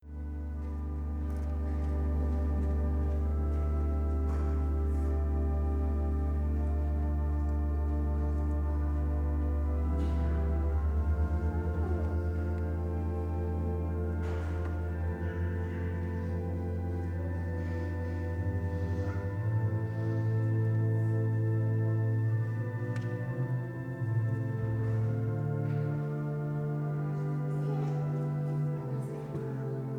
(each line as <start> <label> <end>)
0.0 organ 29.9
0.3 people 29.9
14.2 children 20.2
25.7 children 29.9